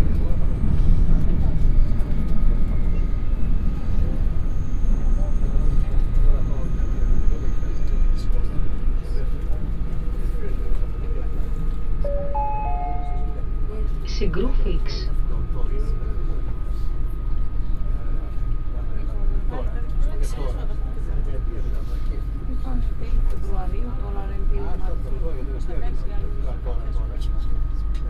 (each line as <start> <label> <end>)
0.0 metro ride 28.0